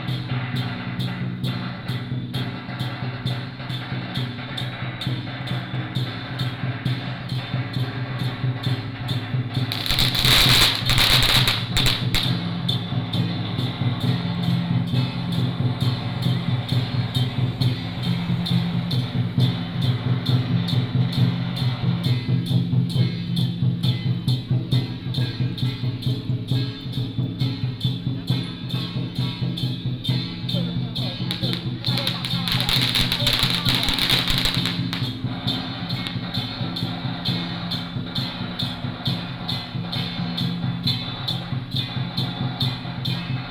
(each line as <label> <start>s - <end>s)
True and false firecrackers sound 9.6s - 12.8s
True and false firecrackers sound 31.2s - 37.0s